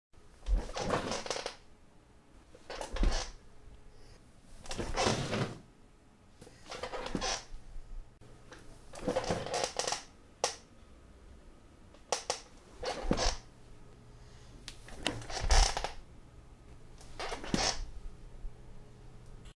Squeaky office chair 0:00.5 - 0:01.6
Squeaky office chair 0:02.6 - 0:03.4
Squeaky office chair 0:04.6 - 0:05.6
Squeaky office chair 0:06.7 - 0:07.5
Squeaky office chair 0:08.9 - 0:10.1
Squeaky office chair 0:12.1 - 0:13.4
Squeaky office chair 0:14.9 - 0:16.0
Squeaky office chair 0:17.1 - 0:17.9

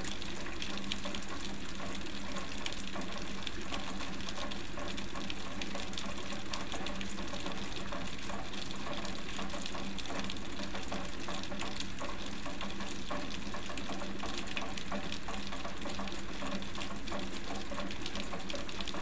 Rain 0:00.0 - 0:19.0

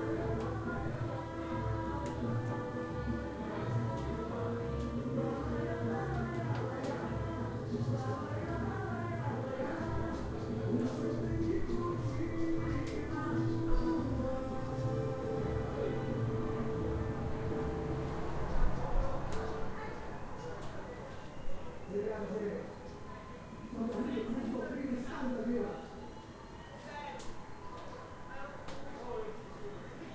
people talking 0:00.0 - 0:17.4
brazilian music was playing 0:00.0 - 0:21.0
singing 0:00.0 - 0:30.1
people talking 0:18.5 - 0:30.1

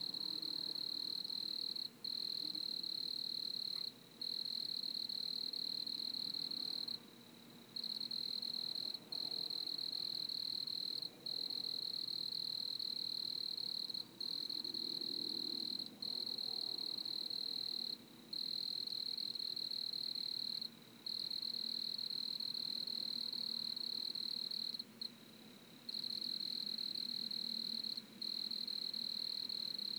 cricket chorus 0:00.0 - 0:07.1
cricket chorus 0:07.8 - 0:29.9

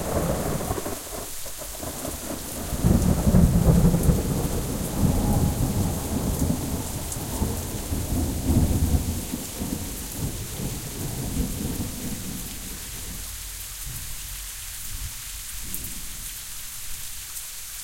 thunder 0:00.0 - 0:13.2
Rain 0:00.0 - 0:17.8

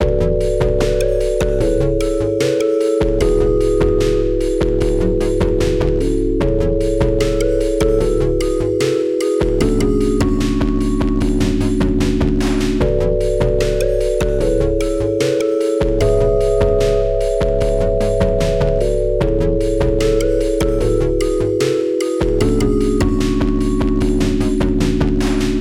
music 0:00.0 - 0:25.6

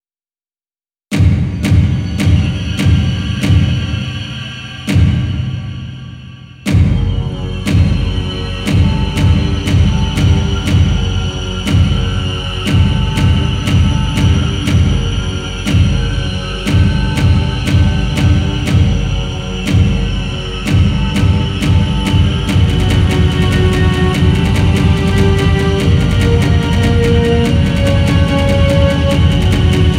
Horror chase song 0:01.2 - 0:29.9

